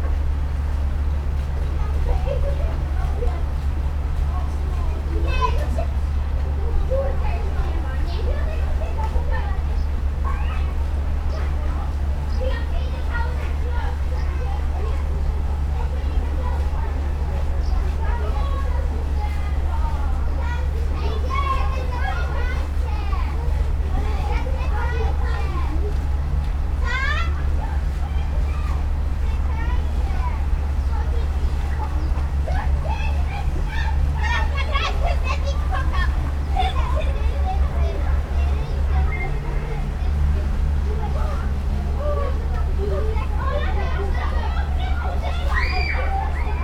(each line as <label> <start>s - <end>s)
hum of the fire truck's engine 0.0s - 46.6s
kids playing in the water 0.0s - 46.6s